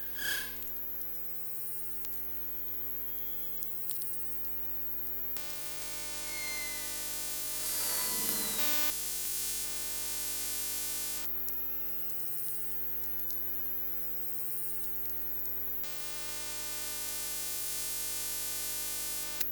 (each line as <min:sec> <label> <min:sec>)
0:05.4 elctromagnetic traffic 0:08.9